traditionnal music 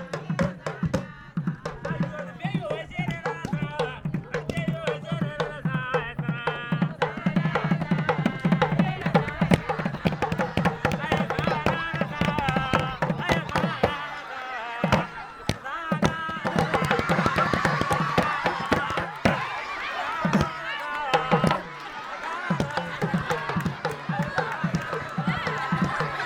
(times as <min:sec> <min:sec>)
0:07.0 0:14.2